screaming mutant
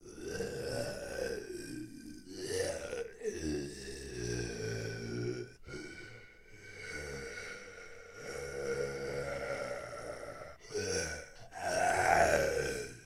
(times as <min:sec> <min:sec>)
0:07.0 0:13.0